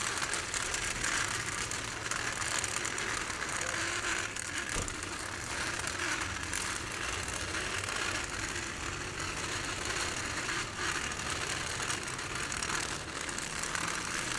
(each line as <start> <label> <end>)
0.0 walker missing two wheels producing this sound of metal scraping the concrete 14.3